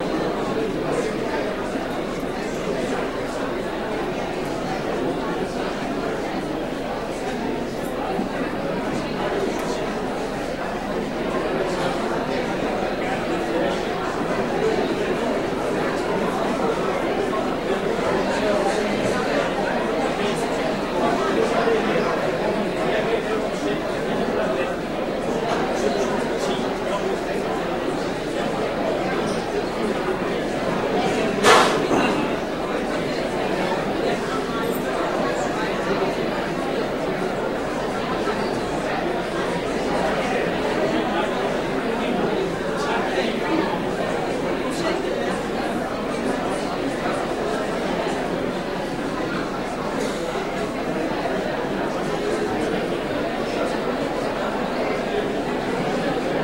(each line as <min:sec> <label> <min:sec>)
0:00.0 Large group of people chattering and moving about 0:56.4